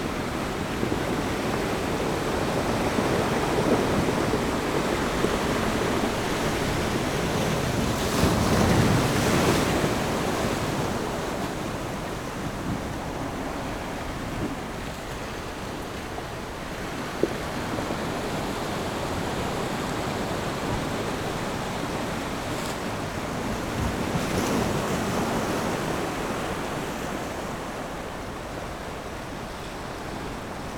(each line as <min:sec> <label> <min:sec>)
0:00.0 waves 0:30.7